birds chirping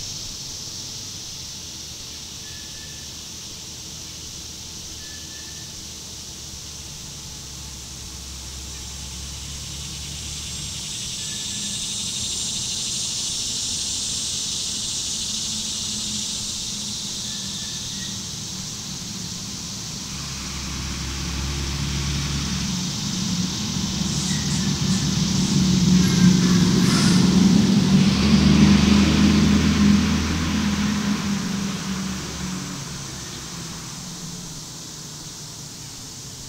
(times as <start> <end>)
9.7 21.2, 22.3 28.3